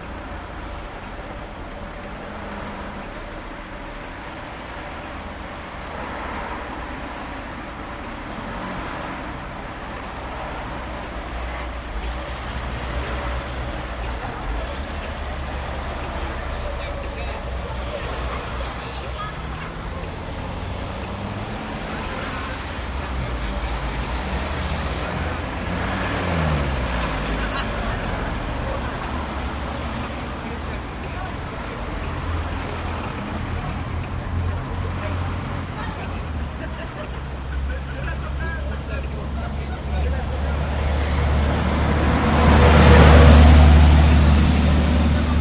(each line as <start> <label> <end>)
0.0 street-noises 45.4